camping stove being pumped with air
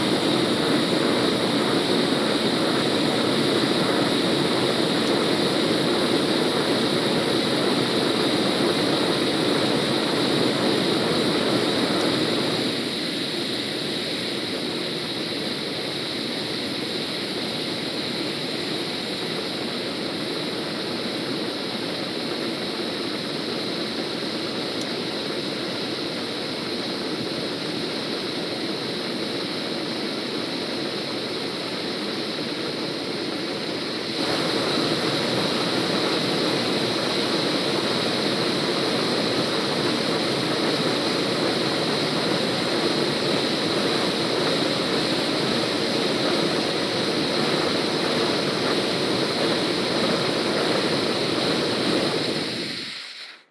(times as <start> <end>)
33.7 53.5